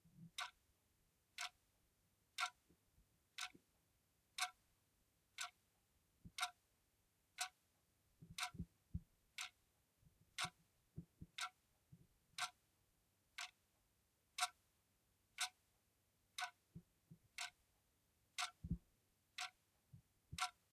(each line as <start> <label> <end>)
0.2 tick-tock of an electric clock 0.6
1.3 tick-tock of an electric clock 1.6
2.3 tick-tock of an electric clock 3.7
4.4 tick-tock of an electric clock 4.6
5.3 tick-tock of an electric clock 5.6
6.2 tick-tock of an electric clock 6.6
7.3 tick-tock of an electric clock 9.7
10.3 tick-tock of an electric clock 11.6
12.4 tick-tock of an electric clock 12.7
13.3 tick-tock of an electric clock 13.6
14.4 tick-tock of an electric clock 14.7
15.3 tick-tock of an electric clock 15.7
16.4 tick-tock of an electric clock 17.6
18.4 tick-tock of an electric clock 18.8
19.4 tick-tock of an electric clock 19.6
20.3 tick-tock of an electric clock 20.7